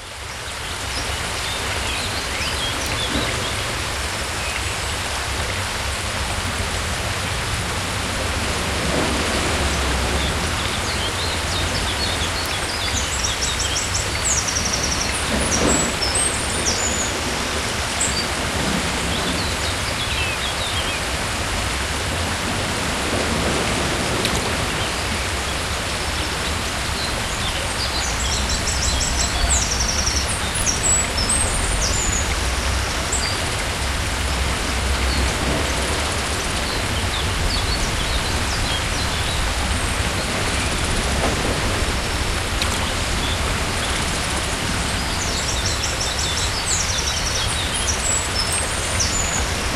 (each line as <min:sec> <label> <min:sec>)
0:00.0 river sound 0:49.7
0:00.0 waterfall sound 0:49.7
0:09.6 birds 0:21.1